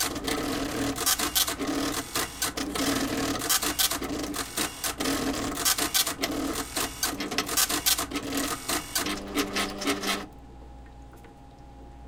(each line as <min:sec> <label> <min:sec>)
0:00.0 slide printer 0:10.3